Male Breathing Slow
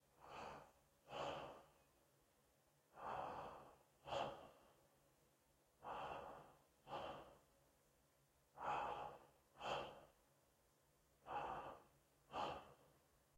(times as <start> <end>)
0.0 2.0, 2.9 5.0, 5.7 7.6, 8.5 10.3, 11.2 13.2